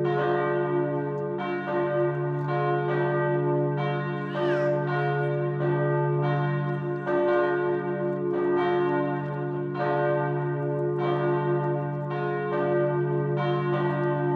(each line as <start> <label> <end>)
0.0 Bells 14.3